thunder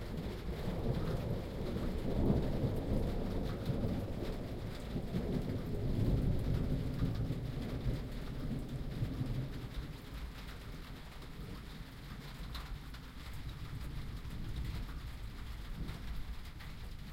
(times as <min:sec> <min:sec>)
0:00.1 0:10.4